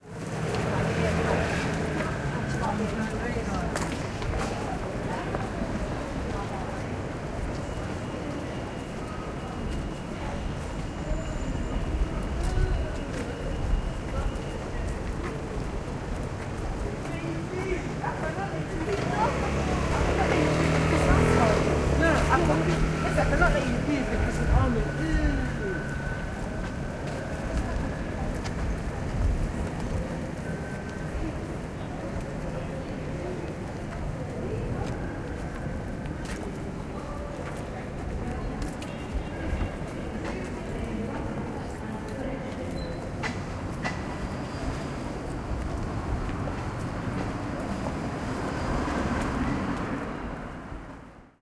a little traffic 0:00.0 - 0:51.4
people talking 0:00.4 - 0:50.3

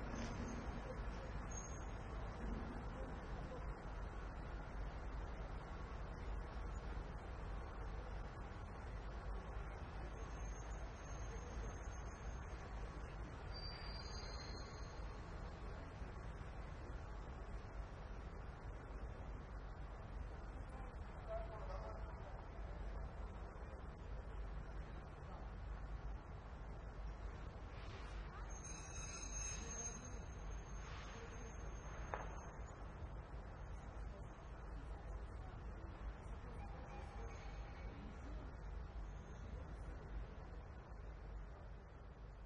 train passes slowly and brakes 0:00.0 - 0:42.4

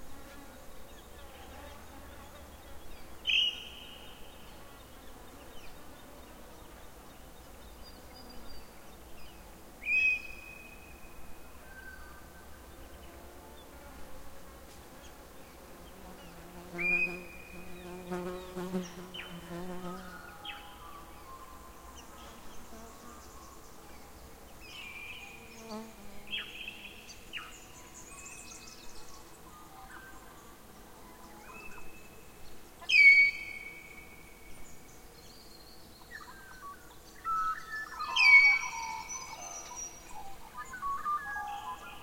insects 0:00.0 - 0:42.0

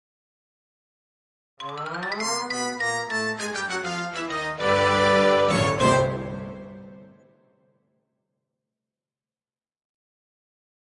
xylophone 0:01.6 - 0:04.4

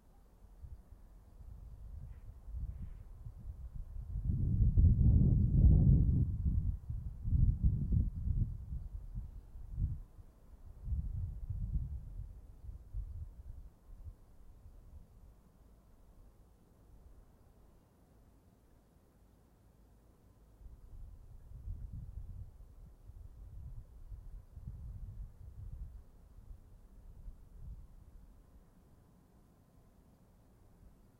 Gusts of Wind 0:00.5 - 0:15.3
Gusts of Wind 0:20.6 - 0:28.7

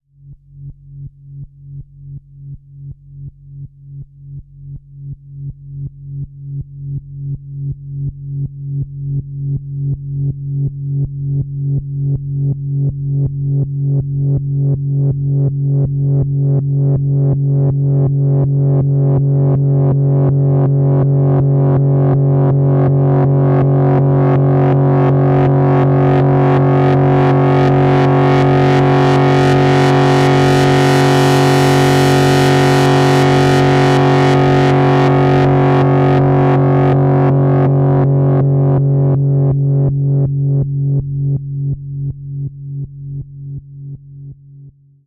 modular synthesizer 0:09.9 - 0:44.4

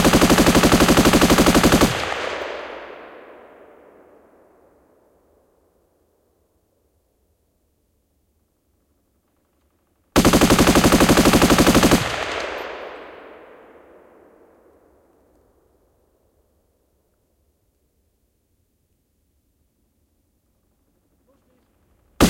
machine gun with an accelerator 0:00.0 - 0:02.2
machine gun with an accelerator 0:10.2 - 0:12.4

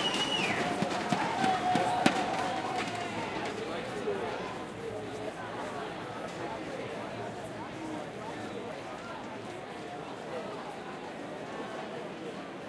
cheering 0:00.0 - 0:04.6

